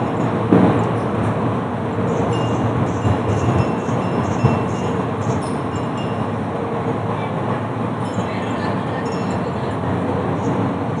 hanging bells 0:00.0 - 0:01.2
traffic 0:00.0 - 0:11.0
wind 0:00.0 - 0:11.0
hanging bells 0:02.0 - 0:06.6
voices 0:02.1 - 0:11.0
hanging bells 0:08.0 - 0:09.9

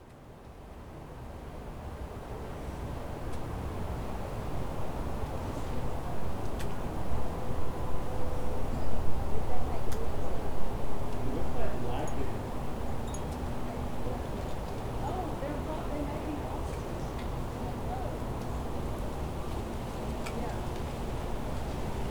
people talking by the side of the road 0:08.4 - 0:21.9
leaves 0:14.3 - 0:22.1

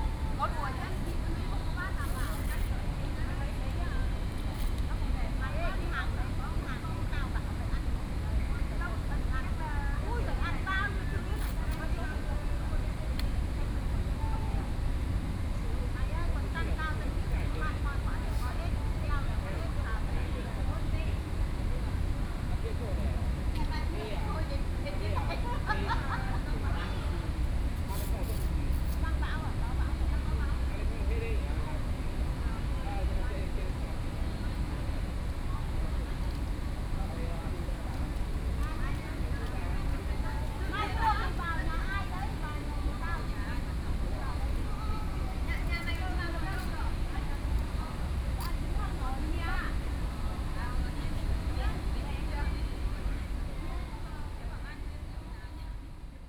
Group chat between foreign caregivers 0:00.0 - 0:56.2

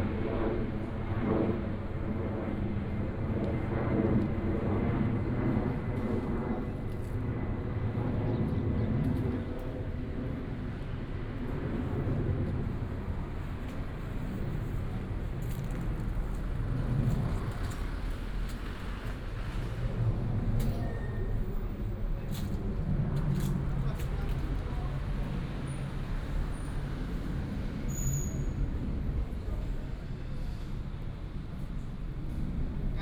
Traffic sound 0:10.8 - 0:33.0

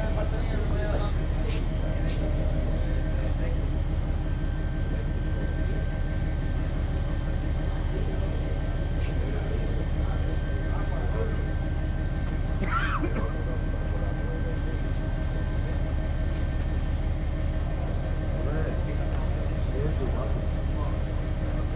people discussing about the price and quantity 0:00.0 - 0:04.0

